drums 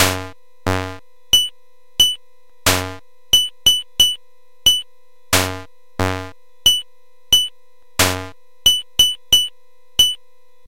0.0 4.8, 7.4 10.2

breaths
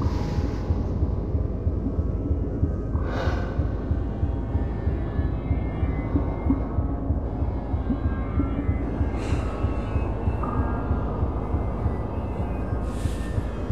3.0 3.7

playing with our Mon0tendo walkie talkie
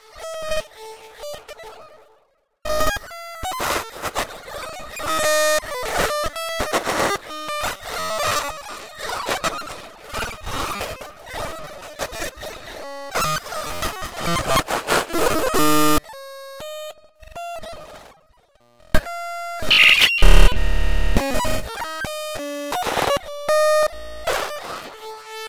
15.3 16.0, 19.0 21.7

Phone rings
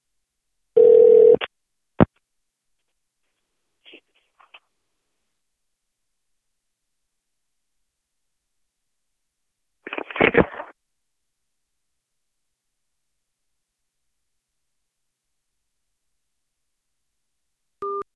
0.8 1.5

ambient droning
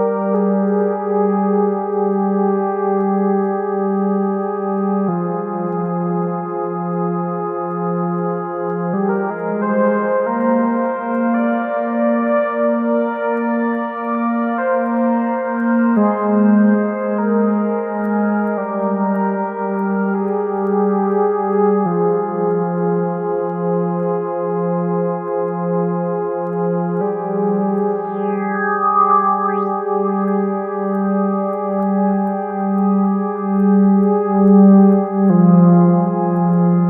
27.0 33.4

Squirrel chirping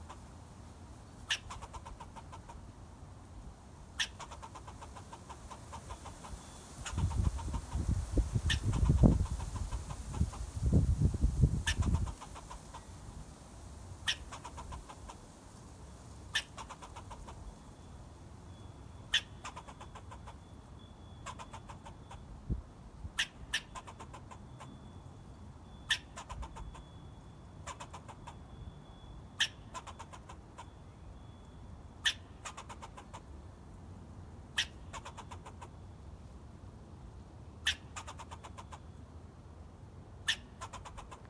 1.2 2.6, 4.0 10.8, 11.6 13.0, 14.0 15.2, 16.3 17.5, 18.5 22.4, 23.1 25.0, 25.7 33.3, 34.5 35.8, 37.6 39.0, 40.2 41.2

